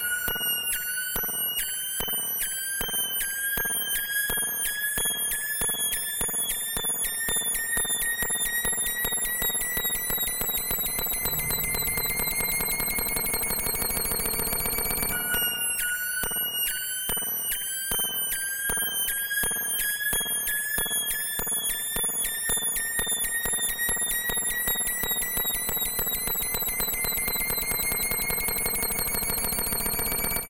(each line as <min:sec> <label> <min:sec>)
0:10.9 VCS3 synthesizer 0:14.5